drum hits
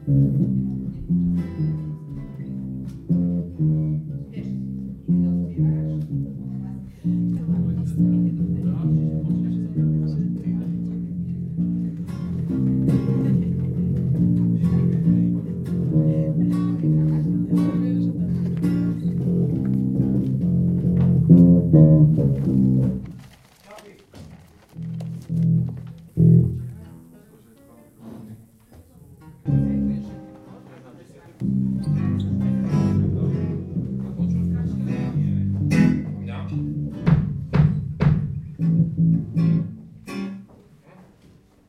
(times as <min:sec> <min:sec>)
0:36.8 0:39.3